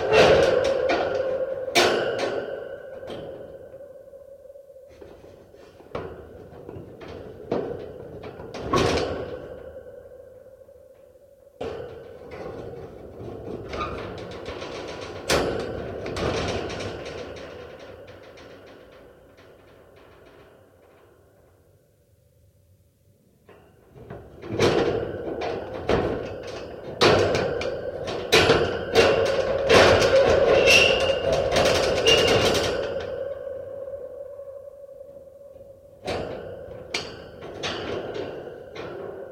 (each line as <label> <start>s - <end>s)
metal cage opening and closing locks 0.0s - 3.4s
metal cage opening and closing locks 24.4s - 33.2s
metal cage opening and closing locks 36.0s - 39.3s